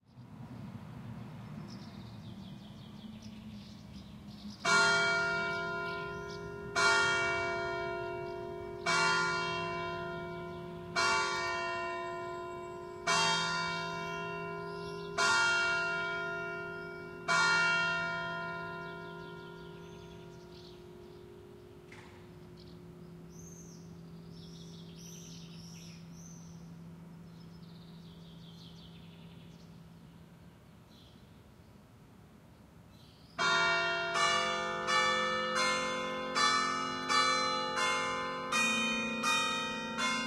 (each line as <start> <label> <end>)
0.0 birds chirp 6.7
4.6 bell tower that chimes the hour 28.9
11.9 birds chirp 17.2
18.5 birds chirp 33.6
33.4 bell tower that chimes the hour 40.2